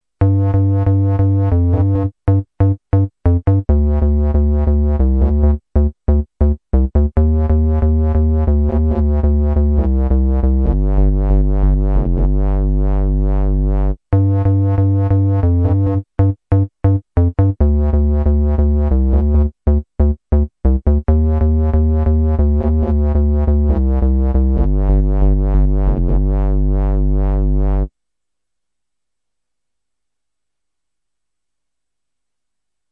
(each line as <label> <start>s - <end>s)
bassline 0.2s - 27.9s